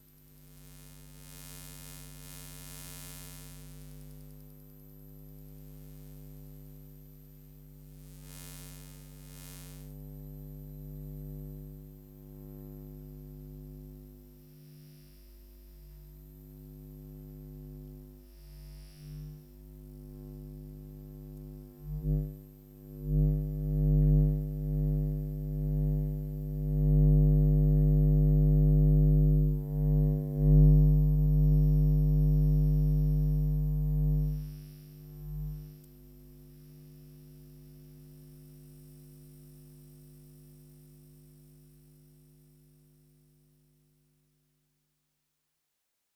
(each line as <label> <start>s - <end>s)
electromagnetic waves moving 0.6s - 4.5s
electromagnetic waves moving 8.0s - 9.9s
electromagnetic waves moving 28.6s - 35.8s